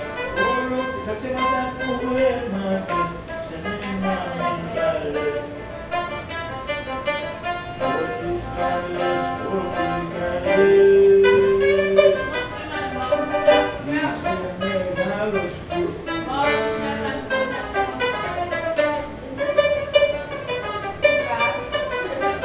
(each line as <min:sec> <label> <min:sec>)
0:00.0 ventilation of the smoking room 0:22.4
0:07.8 old man sings a rebetiko song 0:17.4